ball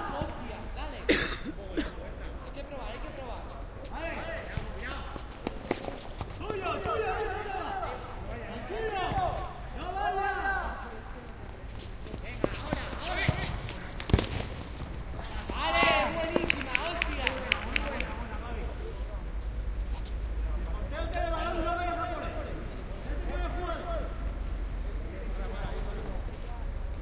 0:12.4 0:18.1

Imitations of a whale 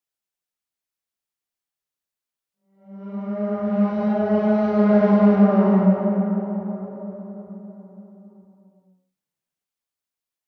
0:02.7 0:08.8

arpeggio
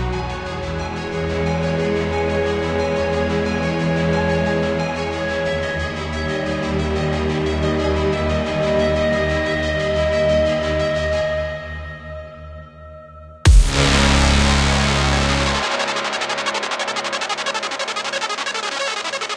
0:13.5 0:19.3

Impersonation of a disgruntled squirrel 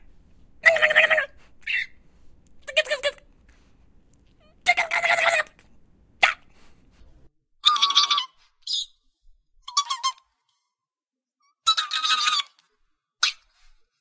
0:00.6 0:02.0, 0:07.6 0:09.0

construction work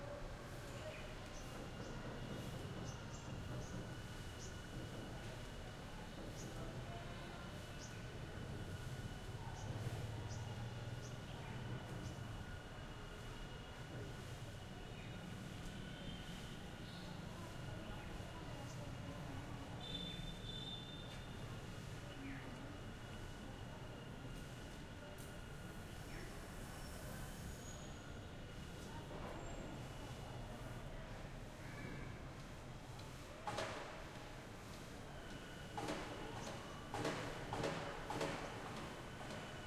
0:33.4 0:34.9, 0:35.7 0:39.6

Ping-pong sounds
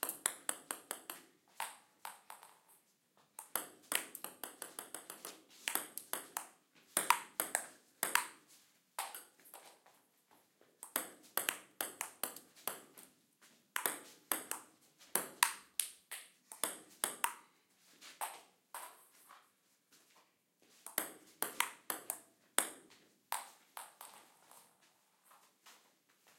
0:00.0 0:02.7, 0:03.4 0:08.4, 0:10.8 0:13.1, 0:13.8 0:17.5, 0:20.9 0:24.5

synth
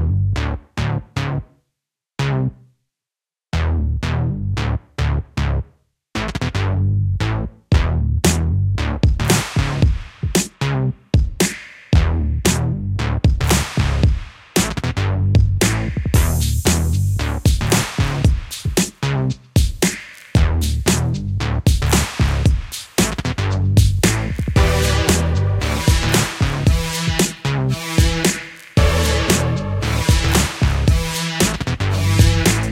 0:24.6 0:31.4

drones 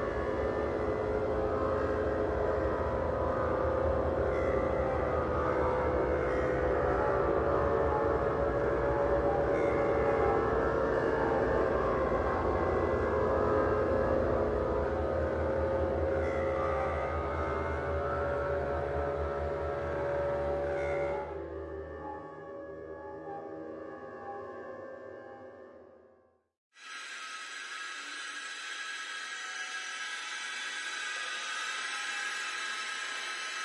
0:00.0 0:25.7

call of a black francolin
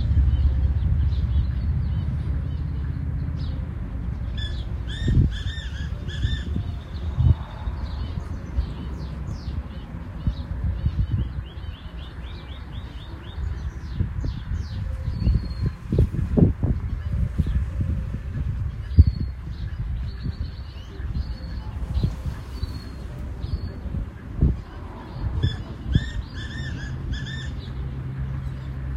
0:04.3 0:15.8

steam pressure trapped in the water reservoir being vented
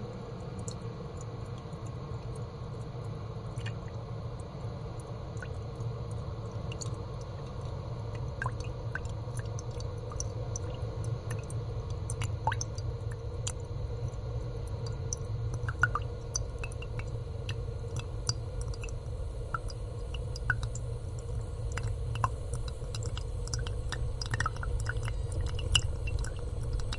0:08.2 0:26.9

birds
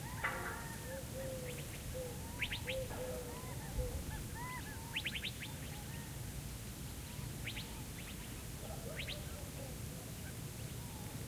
0:00.0 0:06.2

